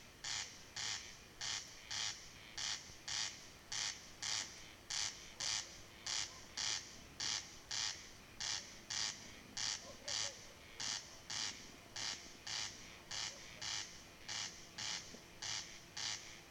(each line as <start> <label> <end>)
0.2 lone corn crake (crex crex) marks his territory 16.5